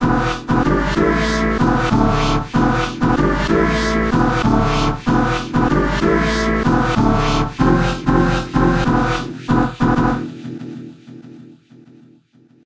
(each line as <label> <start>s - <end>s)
beat 0.5s - 10.3s